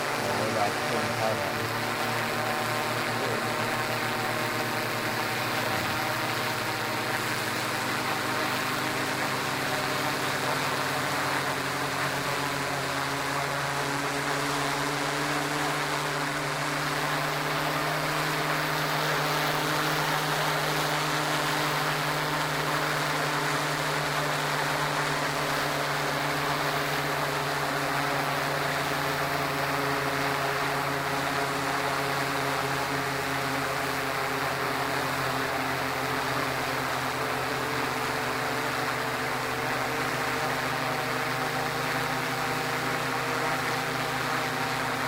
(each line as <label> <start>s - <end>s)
Quadcopter drone fades in, hovers around 0.0s - 45.0s
intermediate talking 0.1s - 1.8s